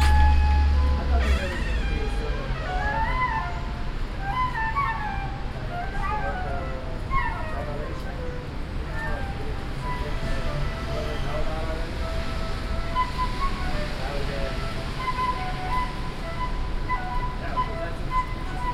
Flutist 0:00.0 - 0:18.7
Road traffic 0:00.0 - 0:18.7

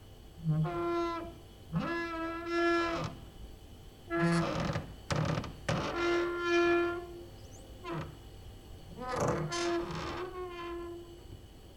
creaking with already tired wooden doors 0:00.4 - 0:03.3
creaking with already tired wooden doors 0:04.1 - 0:11.2

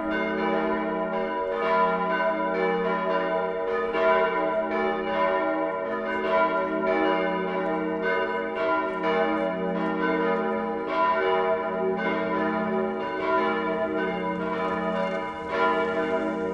churchbells 0:00.0 - 0:16.5

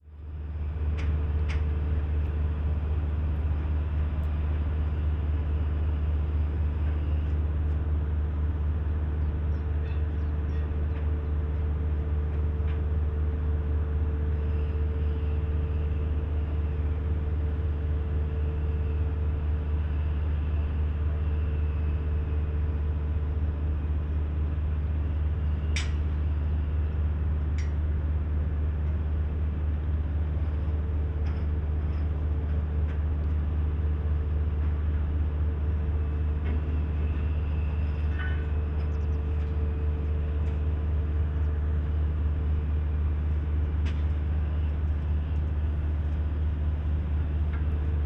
drones from a distant huge bucket-wheel excavator at work 0:00.0 - 0:48.0

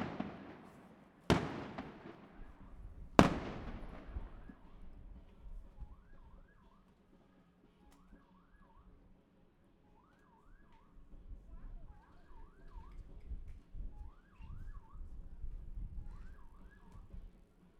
Fireworks sound 0:00.0 - 0:04.6

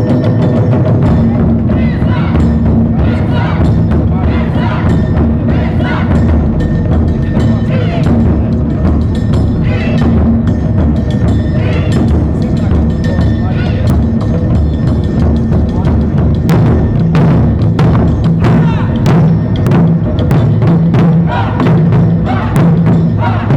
Taikos 0:00.0 - 0:23.5
street musicians 0:00.0 - 0:23.5
voices 0:01.1 - 0:06.5
Shout 0:01.8 - 0:06.2
voices 0:07.1 - 0:14.4
voices 0:18.4 - 0:19.2
Shout 0:18.5 - 0:19.0
voices 0:21.0 - 0:23.5
Shout 0:21.2 - 0:23.5

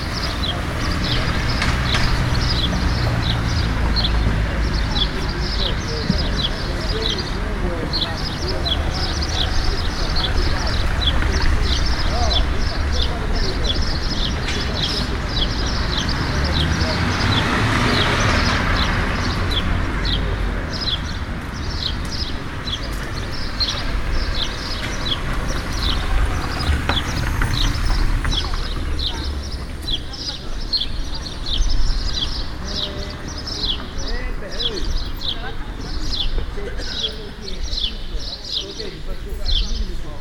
birds chipping 0:00.0 - 0:40.2
cars passing by the road 0:00.0 - 0:40.2
old man's conversation 0:04.3 - 0:18.6
old man's conversation 0:32.6 - 0:40.2

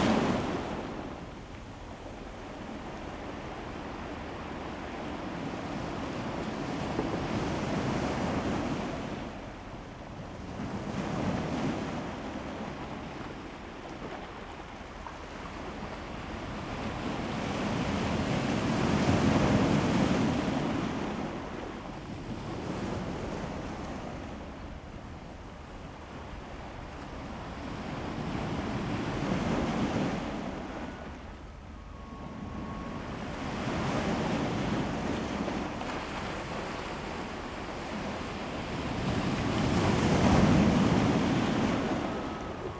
waves 0:00.0 - 0:42.7

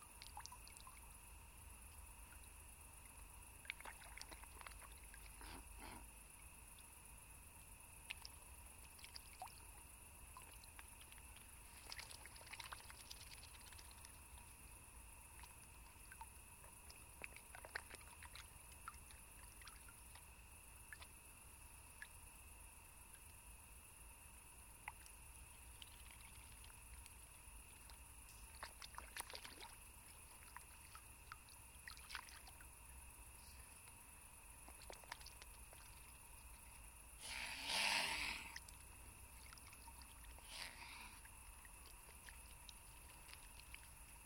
Crickets and cicades chirping 0:00.0 - 0:44.2
swans are begging for a piece of bread and hissing 0:37.2 - 0:38.8
swans are begging for a piece of bread and hissing 0:40.3 - 0:41.3

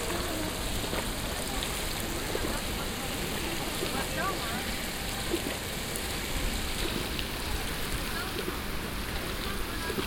art fountain with moving objects 0:00.0 - 0:10.0

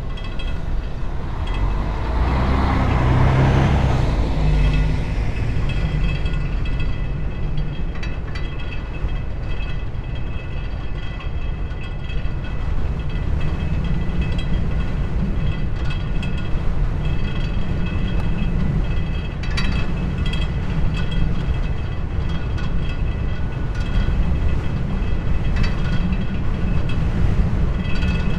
vibrating fence 0:00.0 - 0:09.7
stormy weather 0:00.0 - 0:10.5

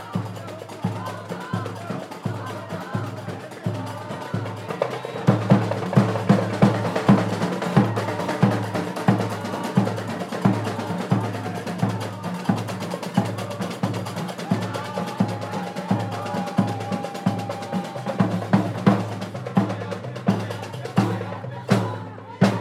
drums 0:00.0 - 0:22.6
qraqeb 0:00.0 - 0:22.6
voices 0:00.0 - 0:22.6

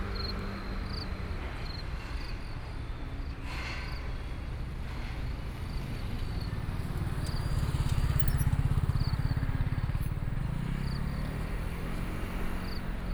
Traffic Sound 0:00.0 - 0:13.1
Insects sound 0:05.7 - 0:13.1

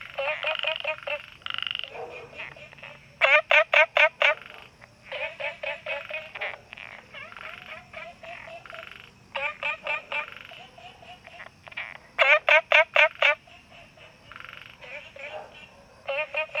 frog sounds 0:00.0 - 0:16.6

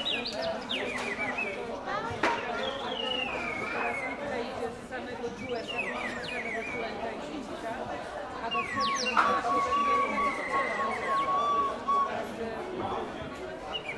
vendor presenting his wooden, hand-made toys 0:00.0 - 0:13.9
whistles 0:02.6 - 0:04.3
whistles 0:08.5 - 0:12.6
whistles 0:13.7 - 0:13.9

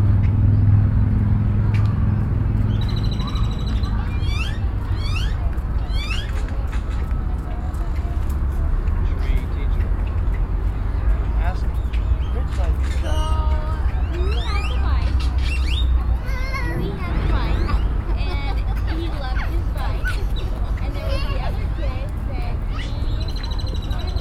Children 0:01.6 - 0:09.0
Birds 0:01.6 - 0:24.2
Children 0:12.8 - 0:24.2

